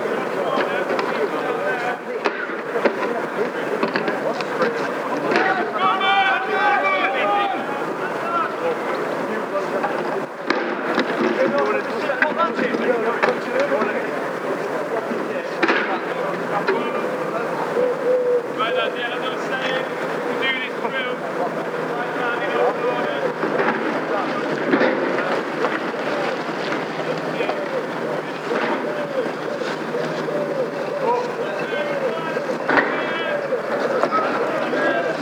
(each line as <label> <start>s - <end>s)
Soldiers Riot Training 0.0s - 35.2s